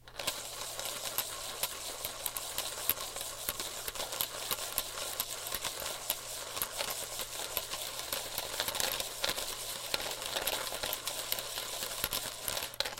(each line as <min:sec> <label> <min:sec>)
0:00.0 rattling coins around in a plastic bottle 0:12.9